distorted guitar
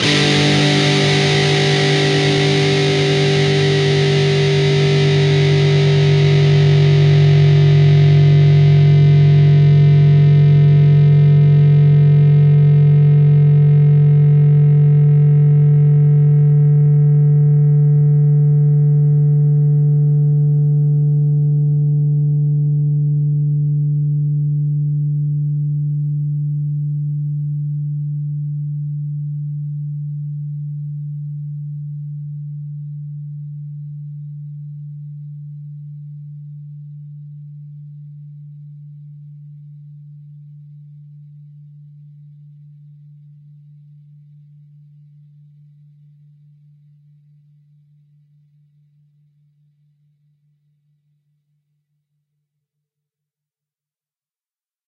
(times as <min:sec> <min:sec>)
0:00.0 0:24.7